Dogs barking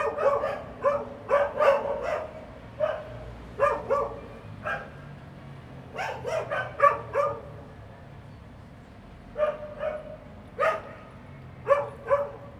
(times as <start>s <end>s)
0.0s 4.9s, 11.7s 12.5s